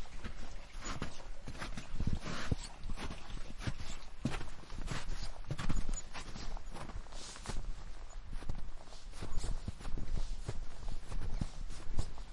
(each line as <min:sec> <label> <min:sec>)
0:00.0 Walking in wet snow 0:12.3